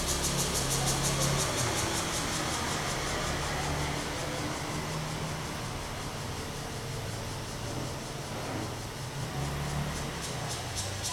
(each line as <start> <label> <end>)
0.0 Cicadas sound 11.1